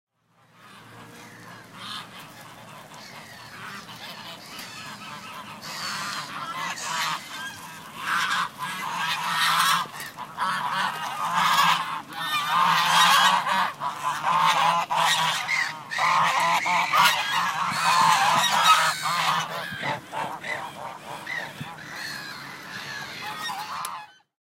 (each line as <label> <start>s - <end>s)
Geese freaking out 0.2s - 24.3s